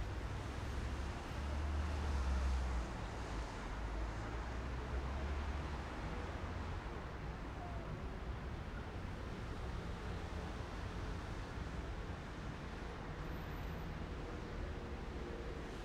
0.0s cars 15.8s

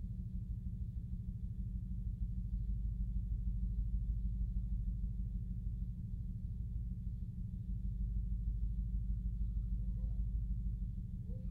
0.0s Low Bass Pulse 11.5s

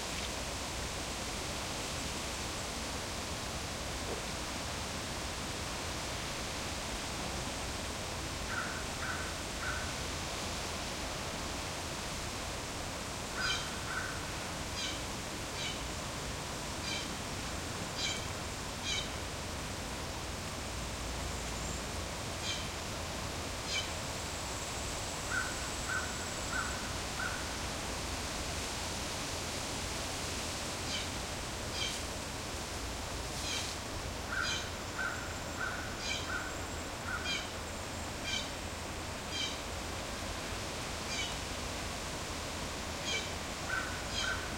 0.0s insects 44.5s
8.5s finch crows bluejays 9.9s
13.4s finch crows bluejays 14.2s
18.8s finch crows bluejays 19.1s
25.3s finch crows bluejays 27.6s
31.8s finch crows bluejays 32.0s
34.3s finch crows bluejays 37.5s
41.1s finch crows bluejays 41.3s
43.0s finch crows bluejays 44.5s

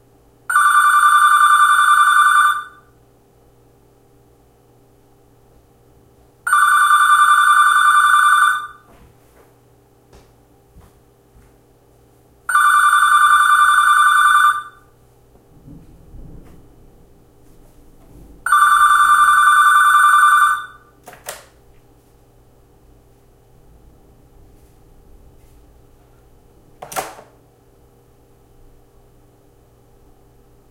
0.5s land-line phone 2.9s
6.5s land-line phone 9.0s
12.5s land-line phone 14.9s
18.5s land-line phone 21.0s

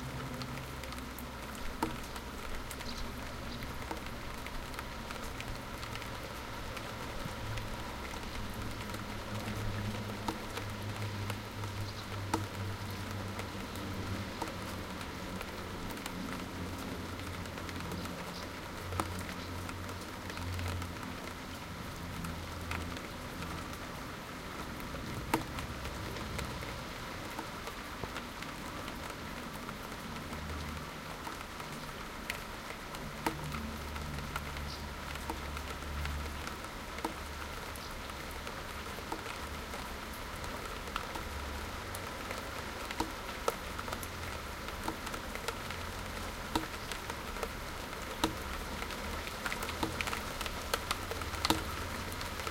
0.0s rain is becoming much heavier now 52.5s
0.0s traffic 52.5s
0.0s water drops on the window ledge 52.5s

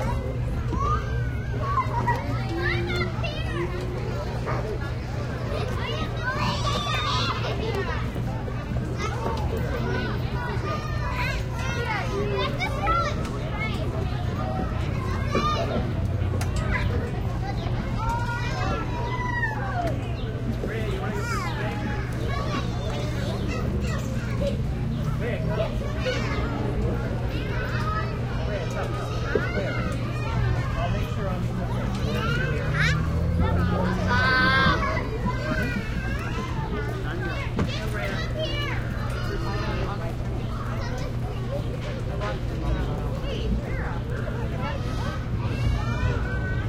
0.0s Kids Playing 46.6s

